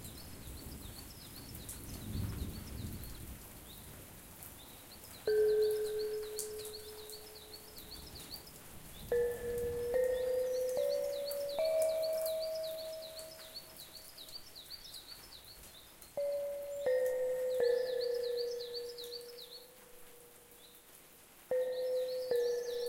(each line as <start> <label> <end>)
0.0 water 15.5
0.0 birds 22.8
0.0 rain 22.8
2.0 thunder 3.3